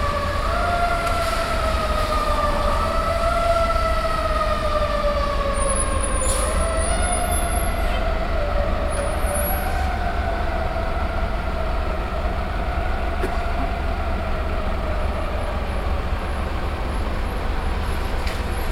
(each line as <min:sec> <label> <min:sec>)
0:00.0 Road traffic 0:18.7